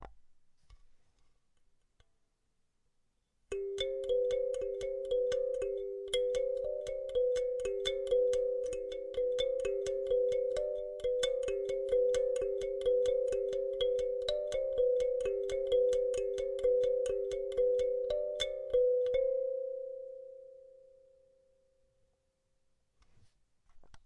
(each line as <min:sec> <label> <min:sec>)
0:03.5 Kalimba melody 0:21.0